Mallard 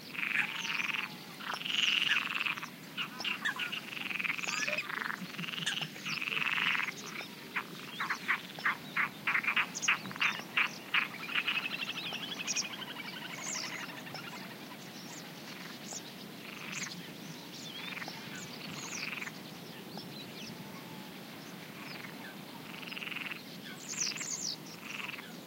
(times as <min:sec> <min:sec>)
0:00.2 0:14.6, 0:21.8 0:23.4, 0:24.8 0:25.3